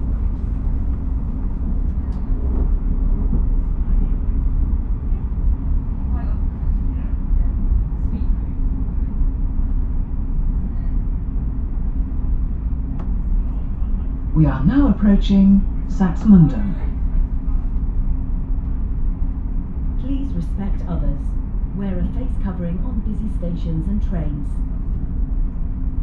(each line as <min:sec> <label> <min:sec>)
0:00.0 passengers leaving the train 0:26.0
0:12.8 train sounds 0:25.6
0:13.5 voices 0:17.7
0:14.3 announcements 0:17.0
0:20.0 announcements 0:24.6
0:20.0 voices 0:24.6